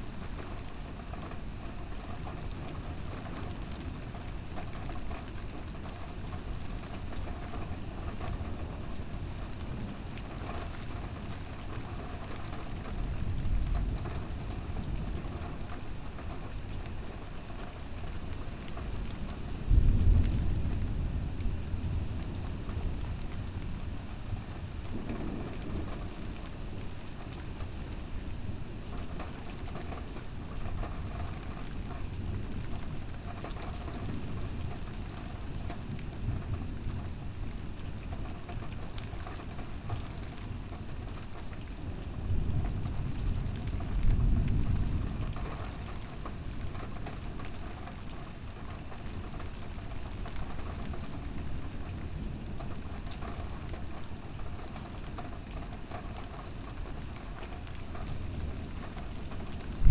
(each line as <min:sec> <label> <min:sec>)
0:24.9 thunderbolt 0:26.5